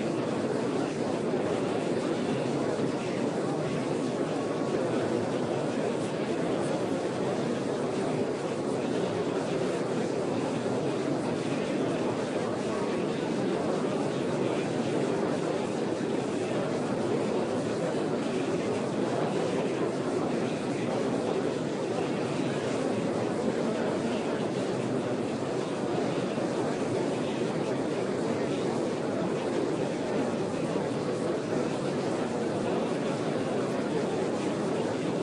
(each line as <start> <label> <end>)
0.0 large crowd of people talking 35.2